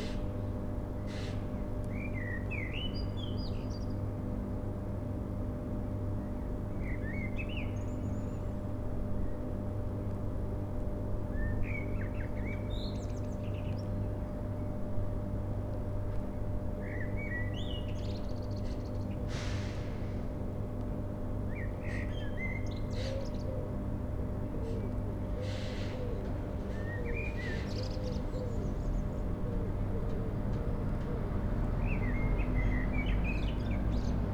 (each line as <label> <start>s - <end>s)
hum and buzz of transformer station 0.0s - 19.3s
hum and buzz of transformer station 19.9s - 34.3s